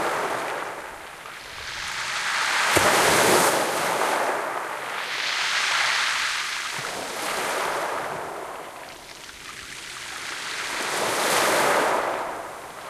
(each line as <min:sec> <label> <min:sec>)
0:00.0 waves 0:12.8